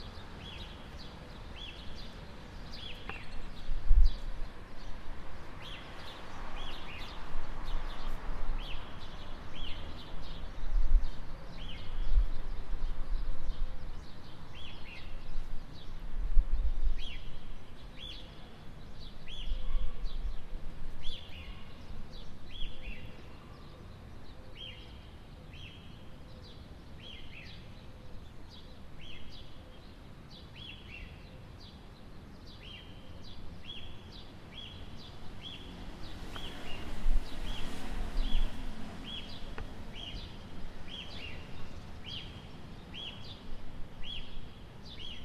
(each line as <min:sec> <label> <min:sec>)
0:00.0 Bird singing 0:16.0
0:16.9 Bird singing 0:45.2